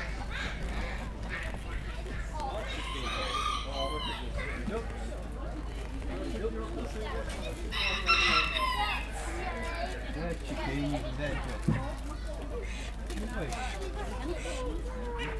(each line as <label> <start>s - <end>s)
ducks 0.0s - 4.8s
chickens 0.0s - 5.2s
voices 0.0s - 15.3s
chickens 7.4s - 10.0s
ducks 12.5s - 15.3s